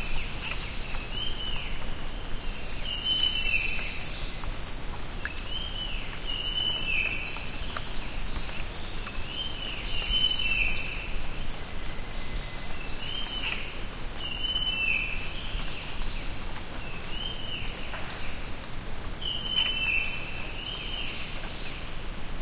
0.0s crickets 22.4s

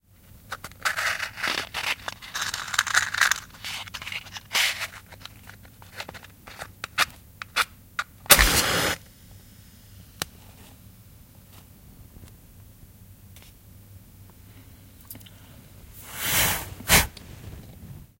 8.2s igniting 9.0s
8.3s extinguishing (blowing) 9.0s
16.0s extinguishing (blowing) 17.1s

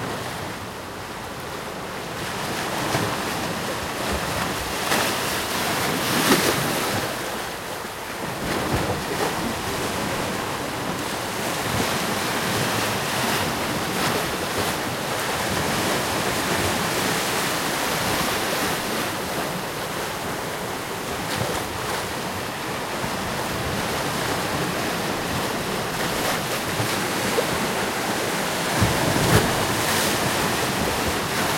0.0s ocean waves wooshing by 31.5s

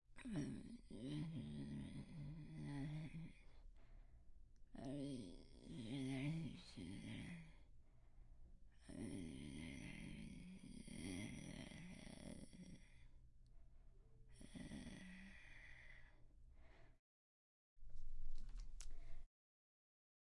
3.5s Breath 4.4s
7.8s Breath 8.5s
12.8s Breath 17.0s
18.8s Breath 19.3s

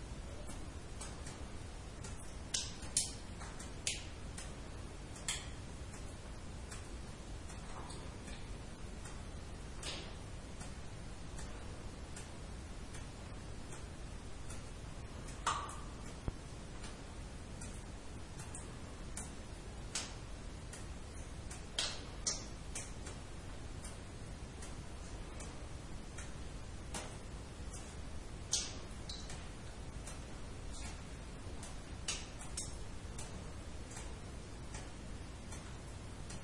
0.0s cave waterdrops 12.4s
14.6s cave waterdrops 36.4s

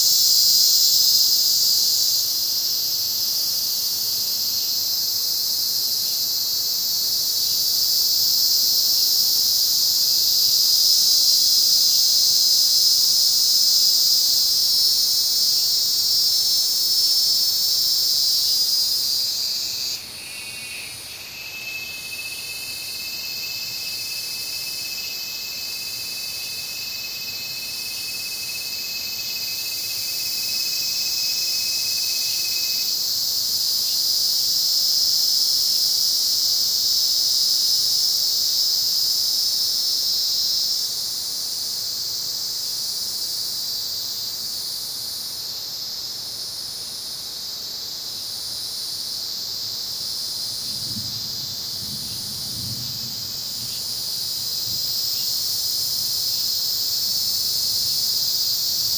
0.0s cicadas 58.9s
0.0s crickets 58.9s

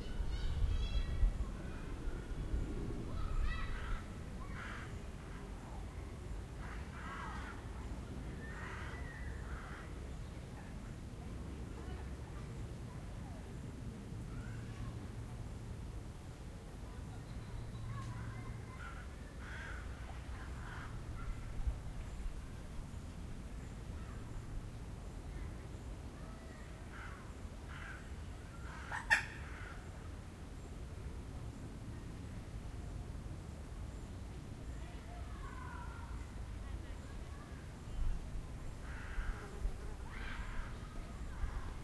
17.1s birds 30.8s

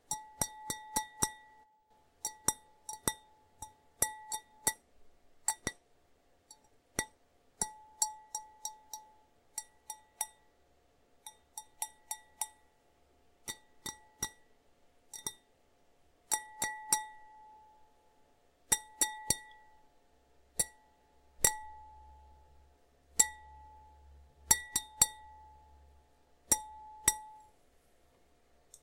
26.5s tinkles on a pint glass 27.5s

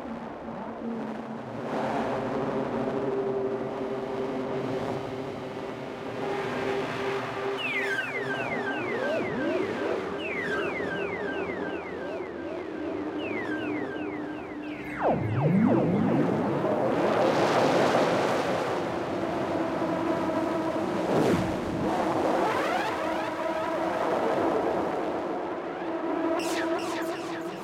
5.9s drone 19.5s

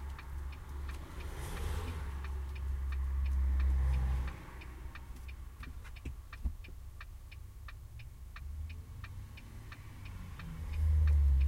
0.0s passing by cars 11.4s

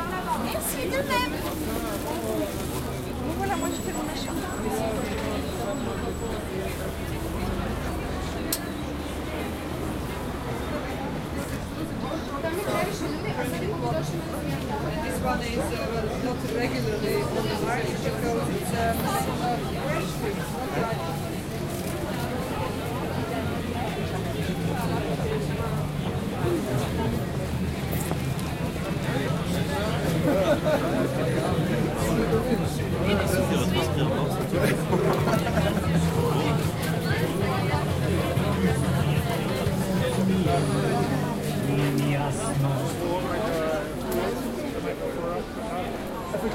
0.0s crowd sounds 46.5s

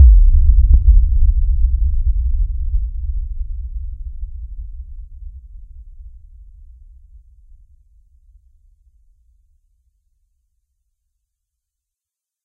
0.0s Bass Boom 6.0s

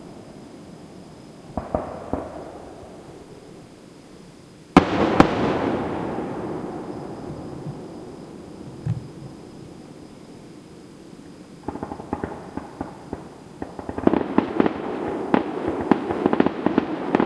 1.4s fireworks and finale 3.3s
4.7s fireworks and finale 9.9s
11.6s fireworks and finale 17.2s

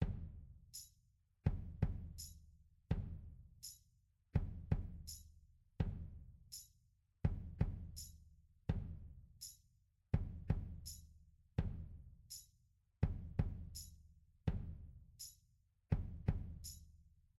0.0s Kick 0.3s
0.6s Tambourine 17.1s
2.9s Kick 3.2s
8.7s Kick 9.0s

